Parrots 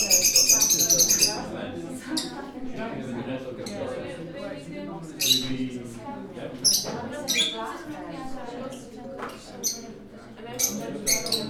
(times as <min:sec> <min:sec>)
0:00.0 0:01.4, 0:06.6 0:07.6, 0:10.6 0:11.4